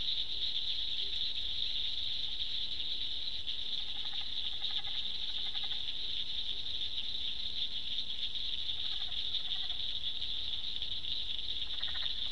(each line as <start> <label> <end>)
0.0 frogs 12.3